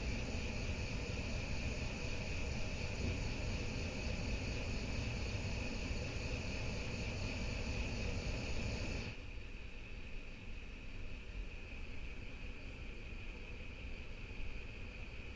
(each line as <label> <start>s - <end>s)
Igniting the strongest gas burner 0.0s - 9.3s
flames at various strengths 0.0s - 9.2s